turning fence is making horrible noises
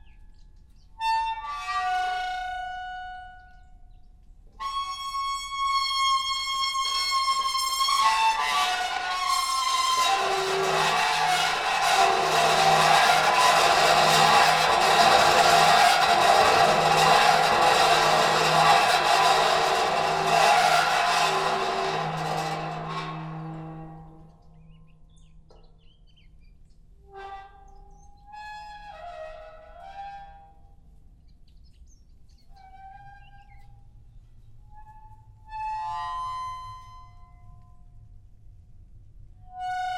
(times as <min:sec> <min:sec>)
0:07.4 0:24.0